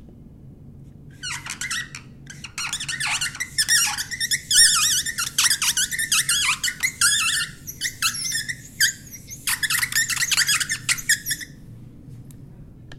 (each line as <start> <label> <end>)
1.2 Marker on a whiteboard 11.5